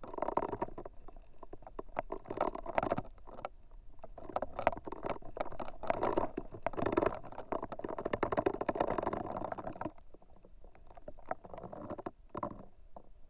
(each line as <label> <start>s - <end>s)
Lonely dried reed 0.0s - 13.2s